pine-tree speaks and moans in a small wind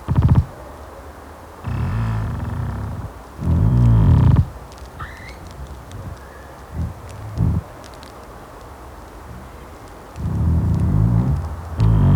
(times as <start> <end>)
1.6 8.1, 9.3 12.1